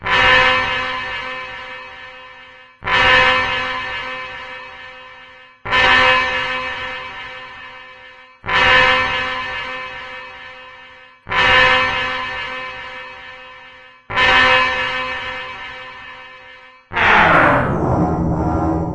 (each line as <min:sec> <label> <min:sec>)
0:16.9 synthesized turntable warping 0:18.9